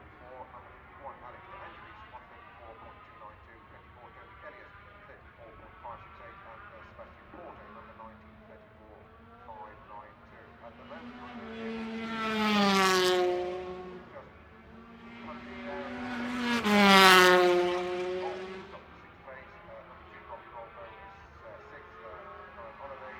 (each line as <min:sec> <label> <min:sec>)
0:00.0 Motorcycle Grand Prix 0:23.1